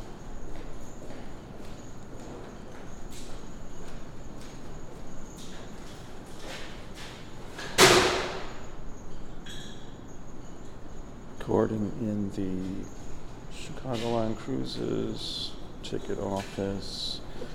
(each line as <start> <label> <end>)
0.0 employee enters 17.5